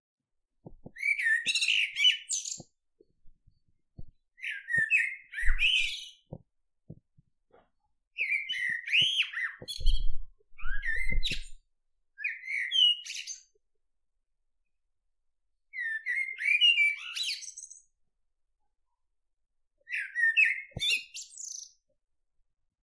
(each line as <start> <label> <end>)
0.8 blackbird singing 2.8
4.4 blackbird singing 6.3
8.2 blackbird singing 11.6
12.2 blackbird singing 13.5
15.7 blackbird singing 17.8
19.8 blackbird singing 21.8